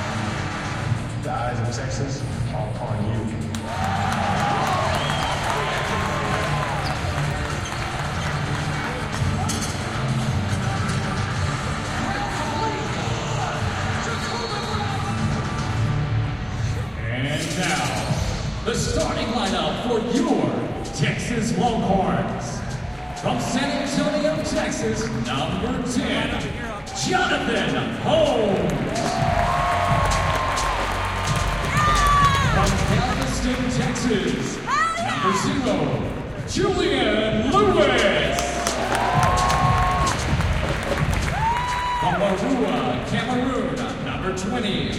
Student basketball games 0:03.6 - 0:16.9
Student basketball games 0:22.6 - 0:36.5
Student basketball games 0:37.9 - 0:43.1

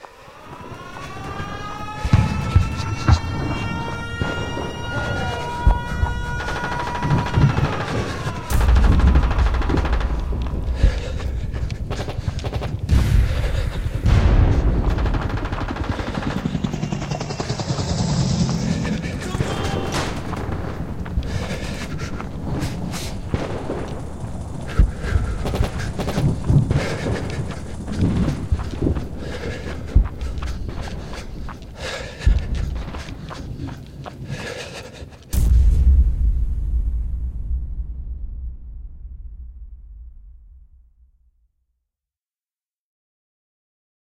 soldier fleeing the battlefield 0:00.0 - 0:35.4
explosion 0:02.0 - 0:28.8
guns 0:24.7 - 0:27.4
explosion 0:35.3 - 0:41.2

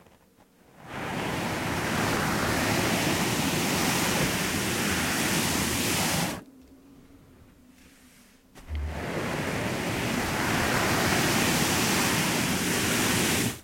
Dragging object on Carpet 0:07.7 - 0:13.6

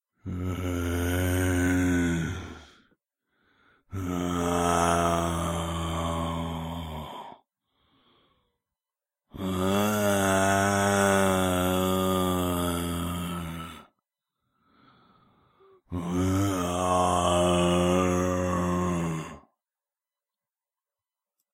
moan like a Zombie 0:00.2 - 0:02.7
moan like a Zombie 0:03.9 - 0:07.4
moan like a Zombie 0:09.3 - 0:13.9
moan like a Zombie 0:15.8 - 0:19.6

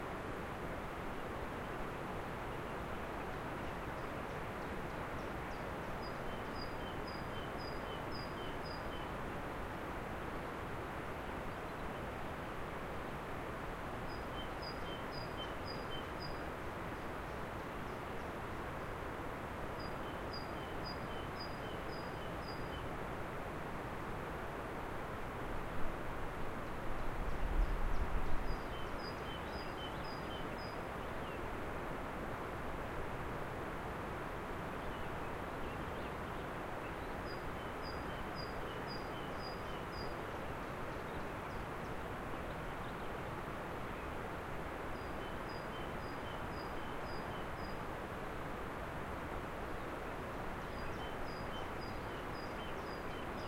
river running close by 0:00.0 - 0:53.4
Birds singing 0:14.1 - 0:18.4
Birds singing 0:19.8 - 0:22.9
Birds singing 0:26.6 - 0:31.5
Birds singing 0:34.7 - 0:43.3
Birds singing 0:49.7 - 0:53.4

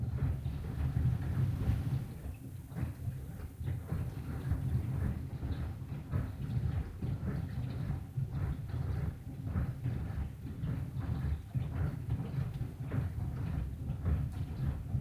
dishwasher in operation 0:00.0 - 0:15.0

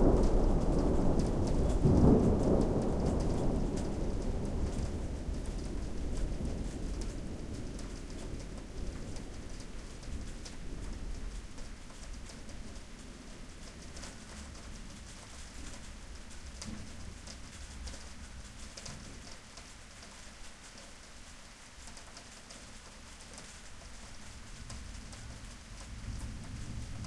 thunder 0:00.0 - 0:15.0
thunder 0:24.7 - 0:27.0

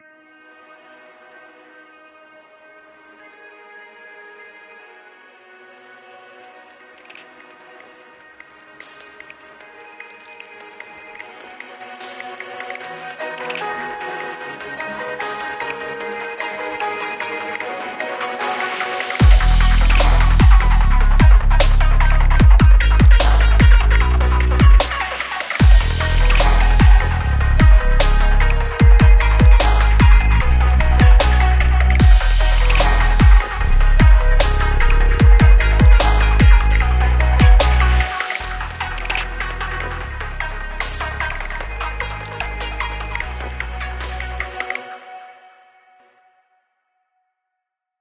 synth 0:06.4 - 0:46.1
Neuro bass beat 0:19.2 - 0:44.6

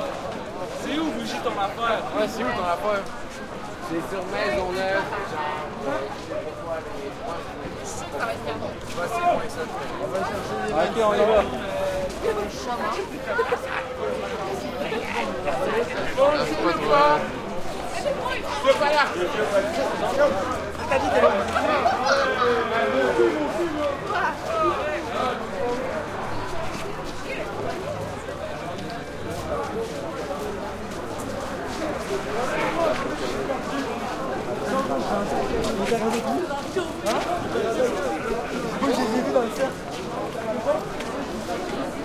passing voices and shouts 0:00.0 - 0:42.0
footsteps shoes scrapes sidewalk 0:14.3 - 0:42.0

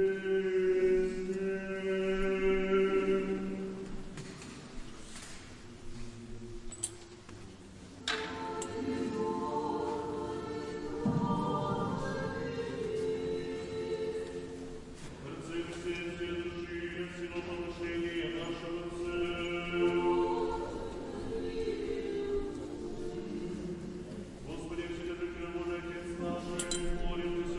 Singing 0:00.0 - 0:07.2
Singing 0:07.9 - 0:27.5
praying 0:08.1 - 0:27.5

